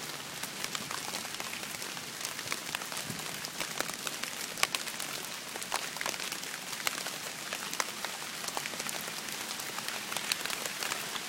leaves 0.0 - 11.2
rain 0.0 - 11.2

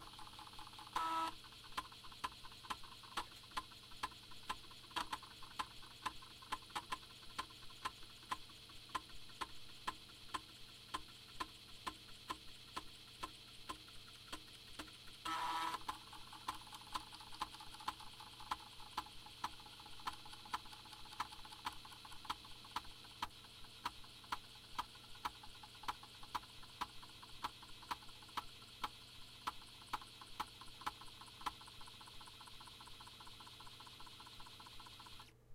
floppy disk drive reading data from a floppy disk 0.0 - 35.4

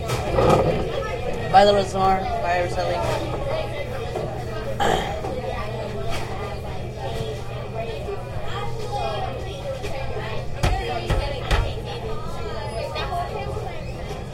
people 0.0 - 14.3
chair 0.1 - 0.9

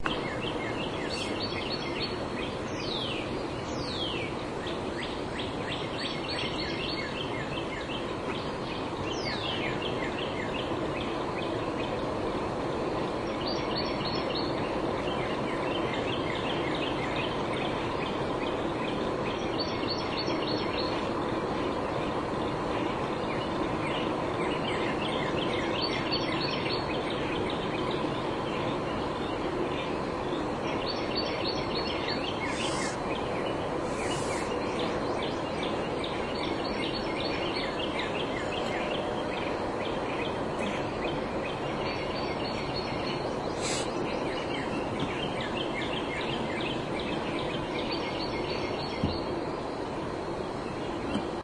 birds chirping 0.0 - 51.4

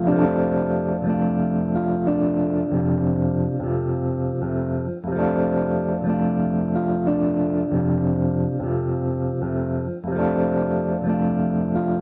guitar 0.0 - 12.0

